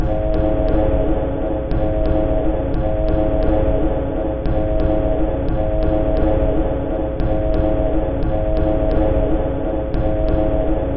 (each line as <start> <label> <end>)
0.0 Drum 3.8
7.2 Drum 10.7